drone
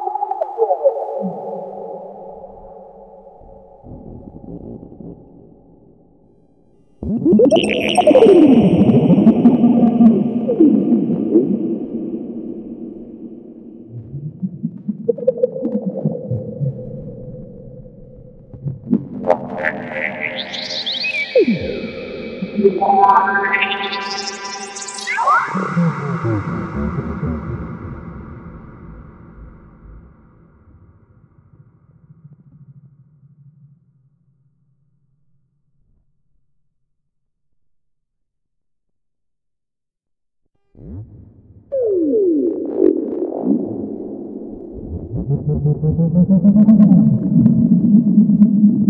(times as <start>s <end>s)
3.2s 14.0s, 19.4s 31.1s